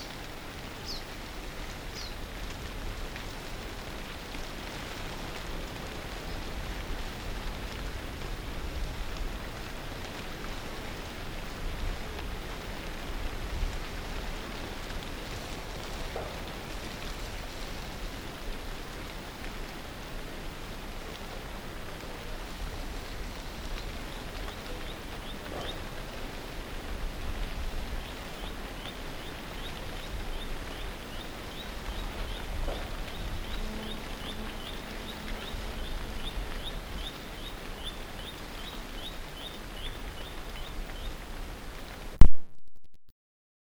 crapaud buffle 0:00.0 - 0:42.2

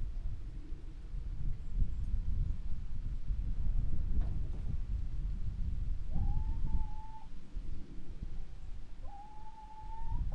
flock of hens waiting to be released from a shed 0:08.9 - 0:10.3

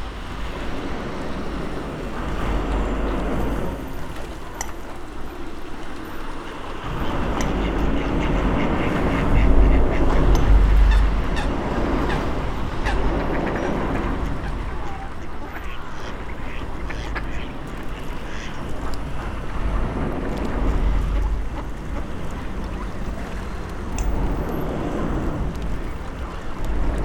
cars driving over the bridge 0:00.0 - 0:27.0
swans 0:00.0 - 0:27.0
ducks 0:05.5 - 0:23.8

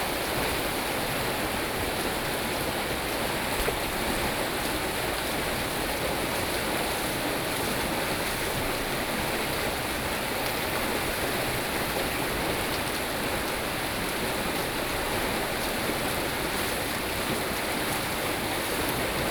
Waterwheel 0:00.0 - 0:19.3

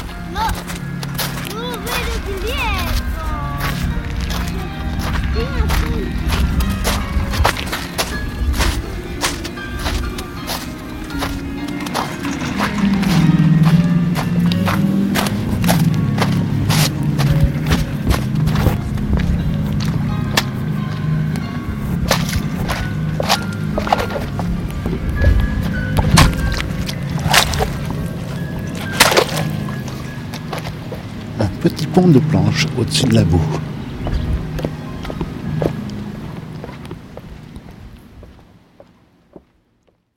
voices 0:00.0 - 0:07.2
music coming out from the cabin 0:00.0 - 0:37.1
wind 0:00.0 - 0:40.1
steps on the melting springtime snow 0:00.0 - 0:39.5
mecanics of chairlifts 0:06.0 - 0:31.4
voices 0:31.0 - 0:34.8

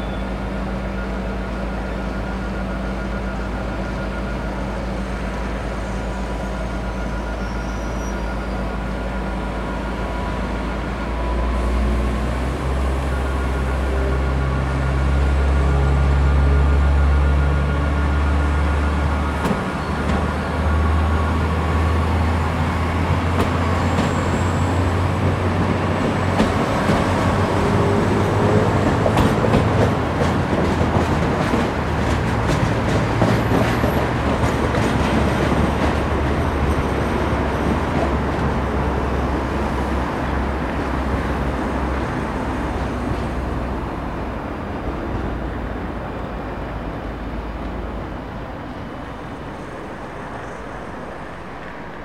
train 0:00.0 - 0:52.0

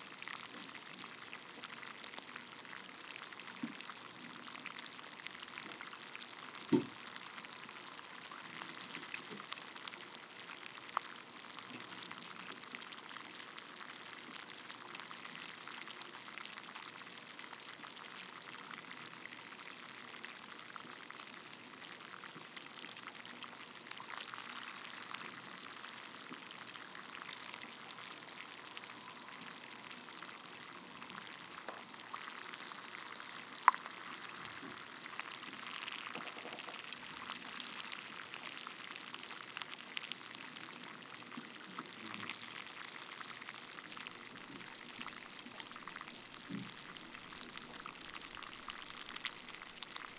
Rice wine fermentation 0:23.9 - 0:38.3

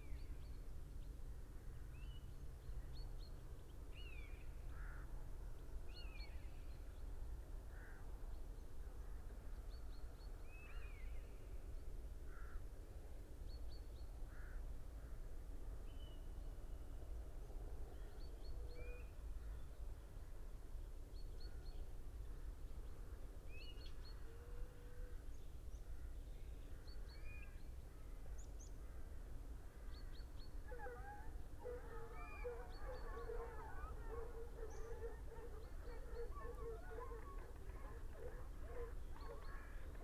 hounds 0:30.7 - 0:40.0

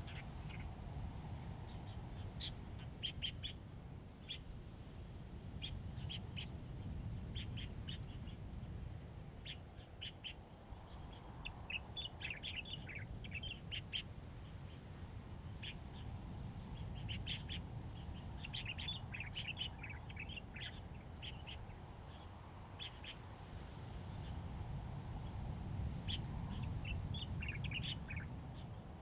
Birdsong 0:26.1 - 0:28.8

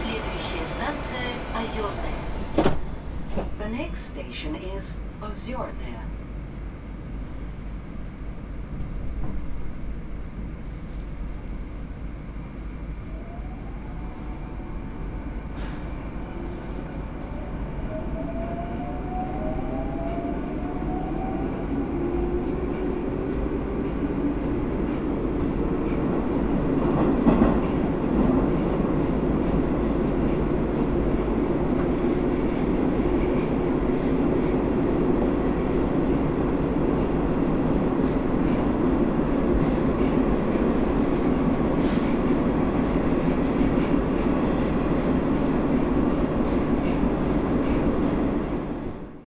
subway train 0:00.0 - 0:49.2

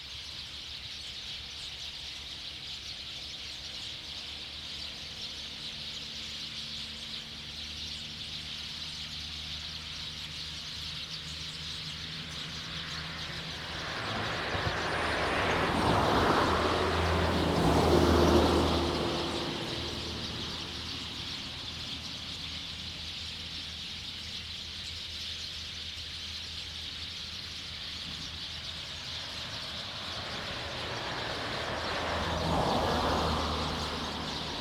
Birdsong 0:00.0 - 0:34.6
Traffic Sound 0:09.1 - 0:34.6

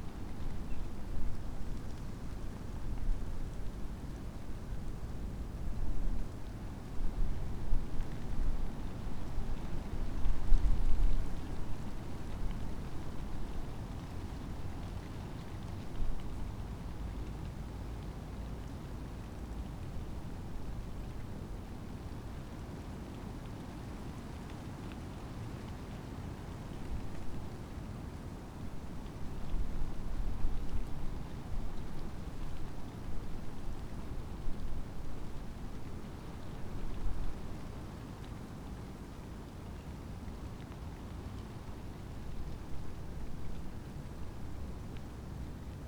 ivy leaves fluttering in the wind 0:00.0 - 0:45.8

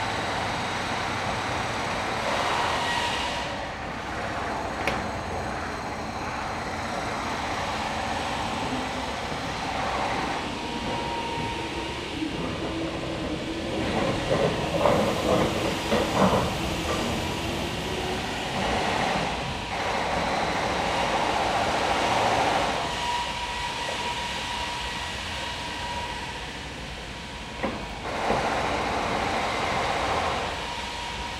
constant pneumatic drills 0:00.0 - 0:31.3
whining machines 0:00.0 - 0:31.3

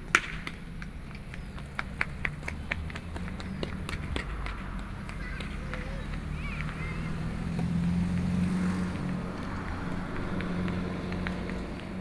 Traffic Sound 0:00.0 - 0:12.0
children playing games 0:03.6 - 0:08.2

